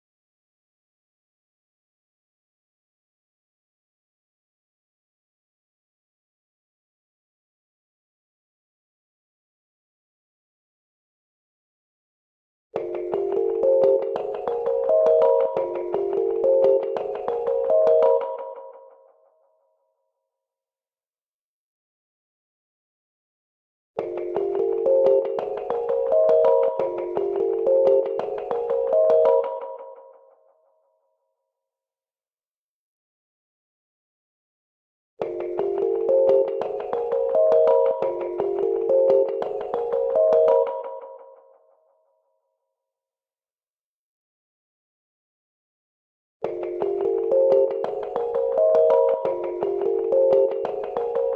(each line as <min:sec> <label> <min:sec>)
0:12.8 trippy melody 0:18.9
0:24.0 trippy melody 0:30.2
0:35.2 trippy melody 0:41.2
0:46.5 trippy melody 0:51.3